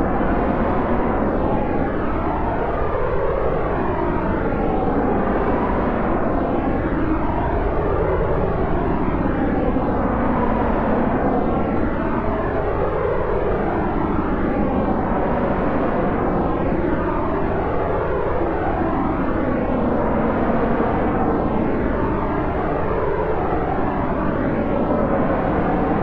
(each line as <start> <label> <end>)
0.0 aircraft jet noise 26.0